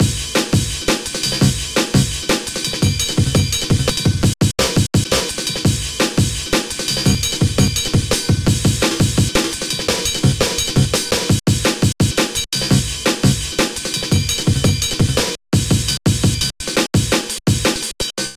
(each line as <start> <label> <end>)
0.0 bass 18.3
0.0 drum-loop 18.3